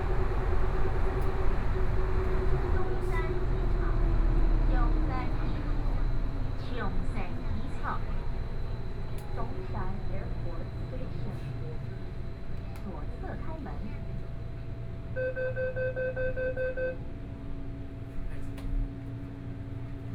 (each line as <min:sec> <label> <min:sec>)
0:00.0 Compartments in the MRT 0:20.1